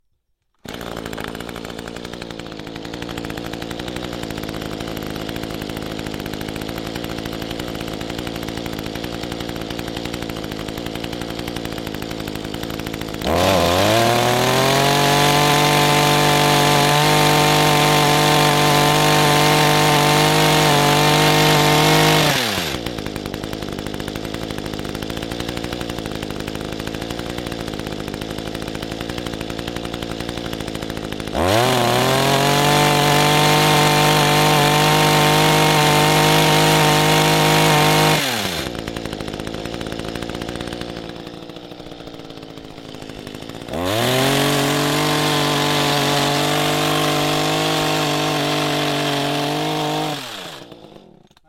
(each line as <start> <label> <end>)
0.6 Gas-powered hedge trimmer 51.4